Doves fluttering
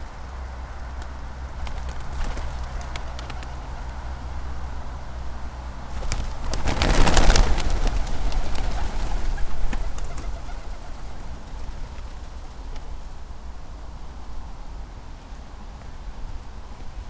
0:00.0 0:04.4, 0:05.8 0:13.5

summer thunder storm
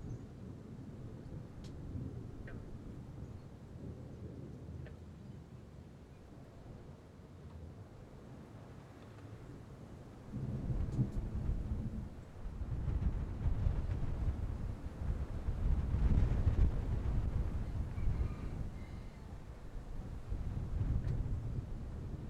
0:10.3 0:18.8

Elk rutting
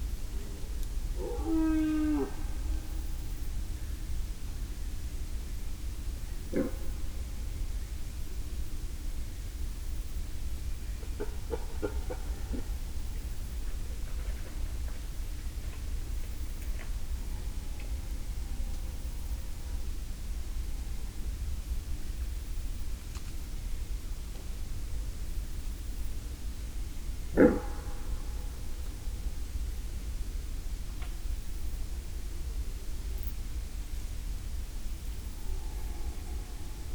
0:06.5 0:06.9, 0:11.0 0:12.8, 0:27.3 0:28.2

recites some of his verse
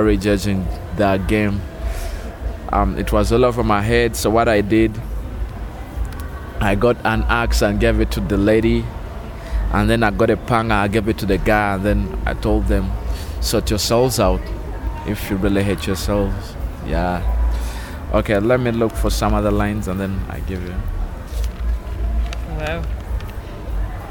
0:00.0 0:01.7, 0:02.7 0:05.1, 0:06.6 0:08.9, 0:09.7 0:14.5, 0:15.1 0:17.3, 0:18.1 0:20.8

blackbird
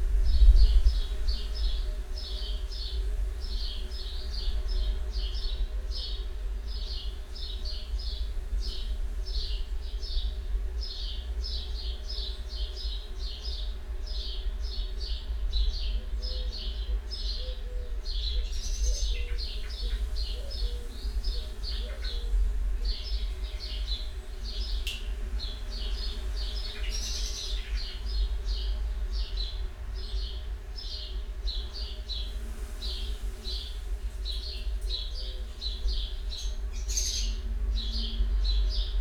0:16.2 0:25.1, 0:34.3 0:38.9

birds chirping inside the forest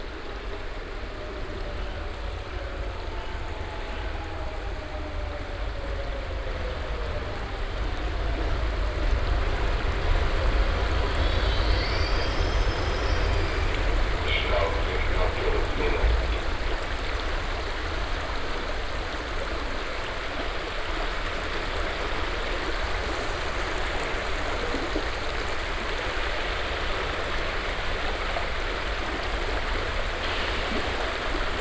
0:11.0 0:16.4

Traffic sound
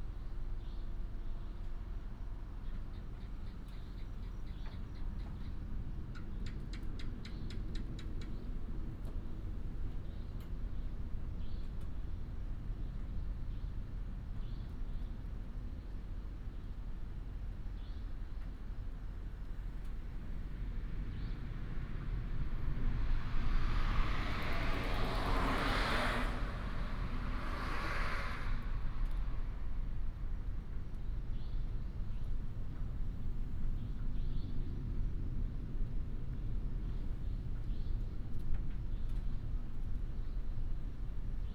0:18.4 0:41.3

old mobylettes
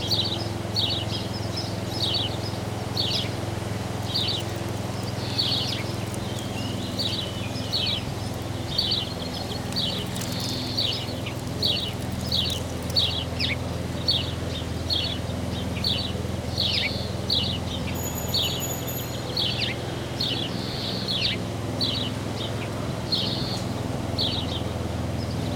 0:03.0 0:14.2, 0:18.0 0:19.5

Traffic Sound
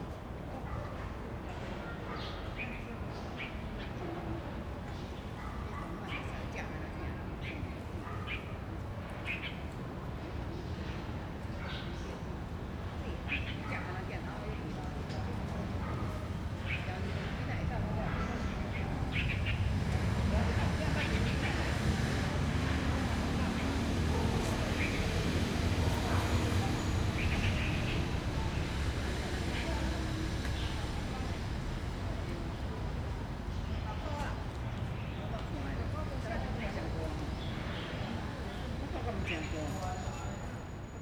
0:14.2 0:41.0

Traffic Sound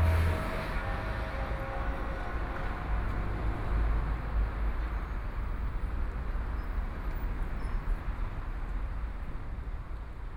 0:00.0 0:04.4

